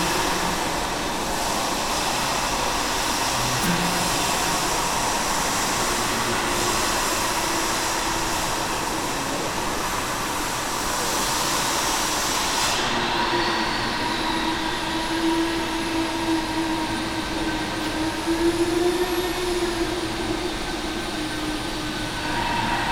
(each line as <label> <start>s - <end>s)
construction noise 0.0s - 22.9s